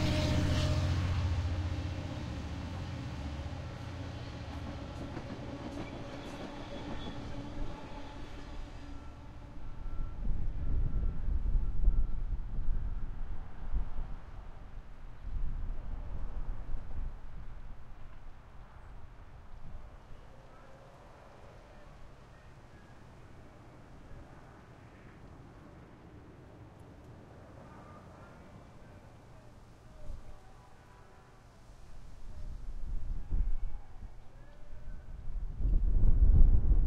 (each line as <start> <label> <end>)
0.0 train horn fading in the distance 13.8
0.0 train heading south 36.8
0.0 wind 36.8
27.4 train horn fading in the distance 35.2